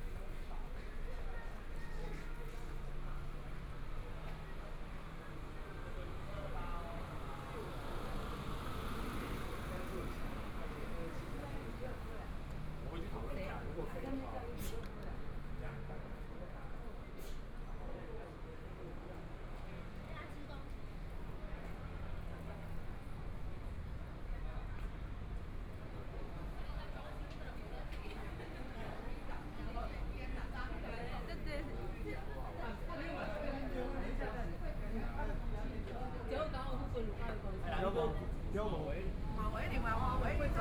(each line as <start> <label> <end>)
5.4 Traffic Sound 13.8
27.8 Traffic Sound 40.6